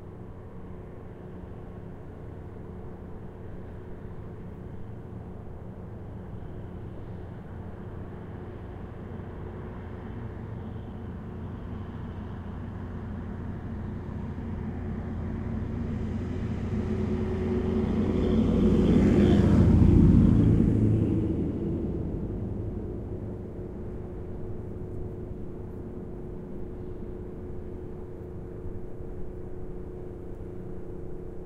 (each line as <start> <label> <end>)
0.0 distant ferry drones 31.4
0.0 Boats pass by 31.4
8.8 car 28.8
15.9 lorry passes by 23.4